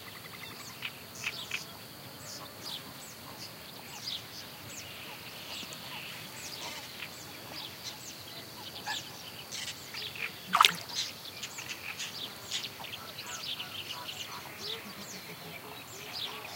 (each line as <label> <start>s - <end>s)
Great Reed Warbler 7.6s - 16.5s
Little Grebe 10.5s - 11.0s